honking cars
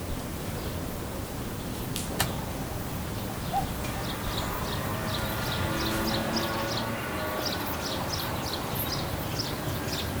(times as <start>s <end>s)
3.3s 10.1s